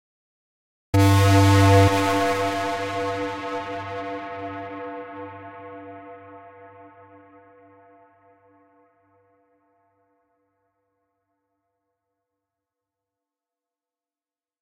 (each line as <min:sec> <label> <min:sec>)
0:01.0 distorted Techno Horn 0:06.6